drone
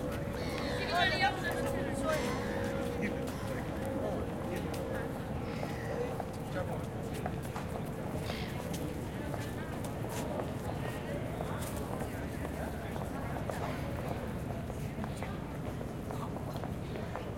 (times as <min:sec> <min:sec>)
0:00.3 0:05.9